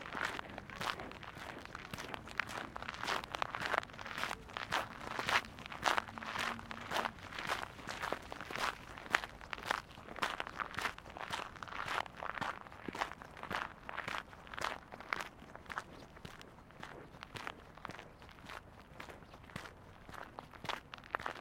0.0s traffic 12.6s

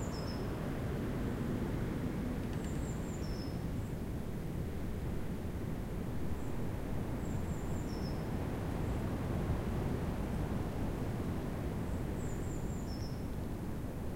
0.0s wind through trees 14.1s

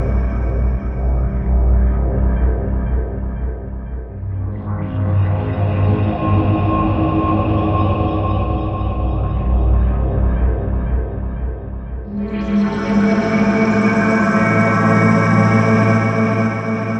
0.0s pad with reverb 6.2s

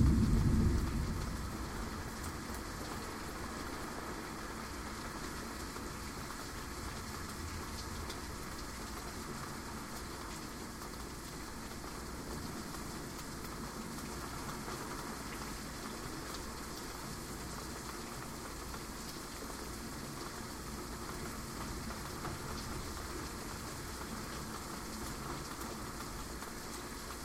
0.0s thunder 3.2s
0.0s rain 27.2s

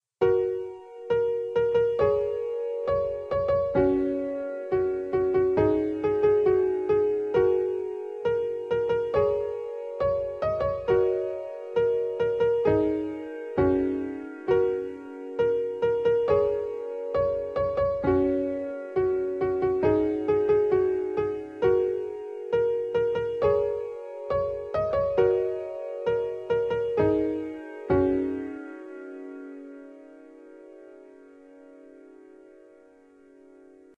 0.0s piano 33.9s

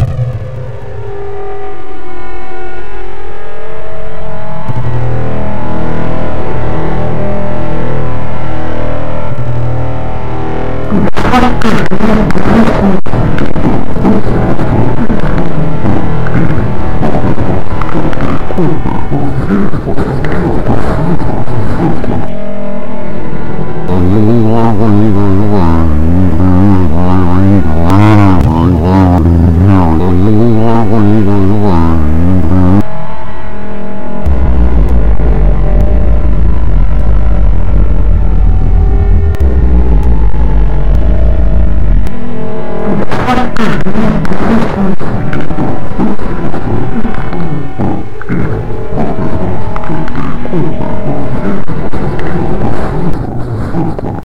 0.0s operator on Space Station 54.2s
10.8s wife on Moon base 33.1s
10.9s wife's husbond on Mars,very low voice 22.3s
23.9s wife's husbond on Mars,very low voice 32.9s

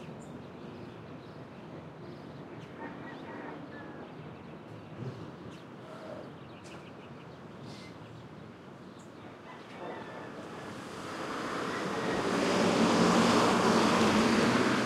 0.0s traffic 14.8s
2.8s rooster 4.1s
9.4s rooster 10.7s

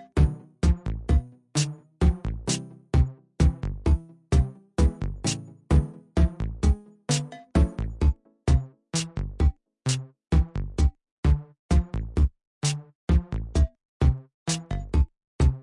0.0s Level music brackground 9.5s

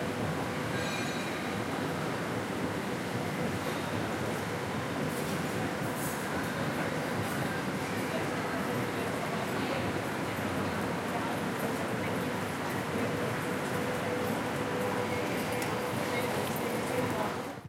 5.6s people talking 17.6s

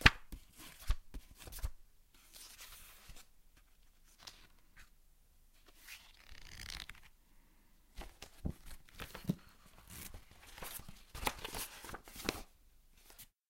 8.0s ruffling pages 12.5s

